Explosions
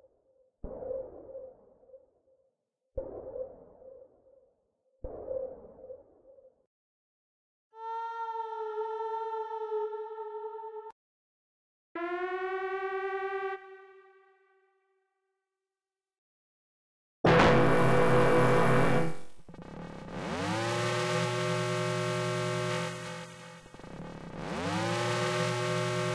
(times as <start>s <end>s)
17.3s 19.8s